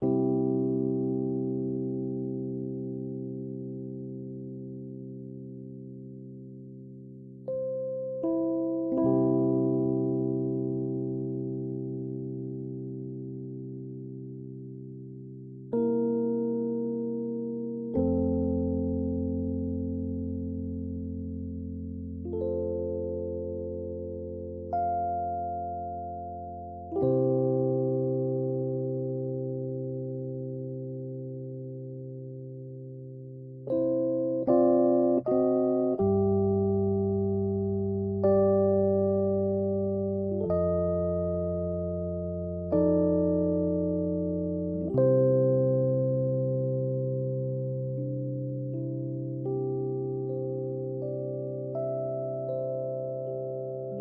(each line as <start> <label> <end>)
0.0 Rhodes 54.0